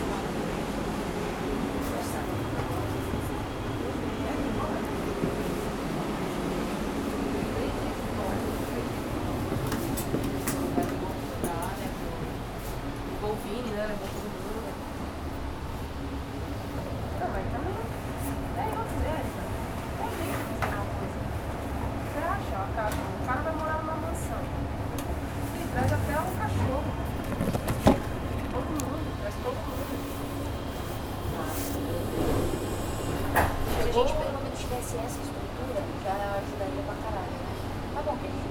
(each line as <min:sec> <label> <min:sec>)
0:00.0 Taking the train 0:38.5